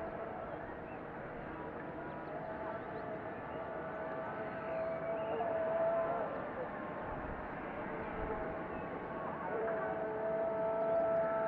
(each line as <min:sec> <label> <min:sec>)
0:01.8 Call to Prayer 0:11.4